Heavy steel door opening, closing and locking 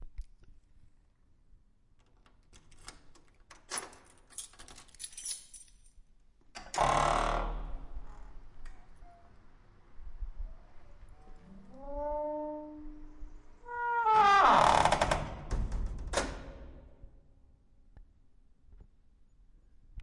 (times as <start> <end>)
2.3 5.4, 6.6 8.3, 13.7 17.0